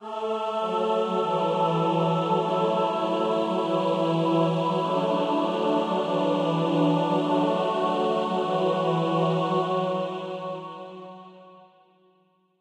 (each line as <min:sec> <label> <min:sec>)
0:00.0 choir 0:12.0